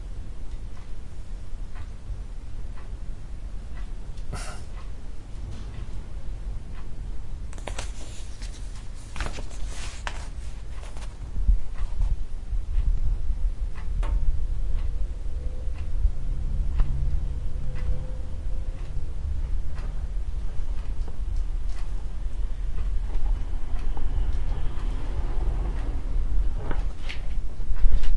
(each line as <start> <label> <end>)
0.4 ticking clock 7.5
7.5 turning pages 11.2
11.6 ticking clock 28.1
22.9 cars passing 26.7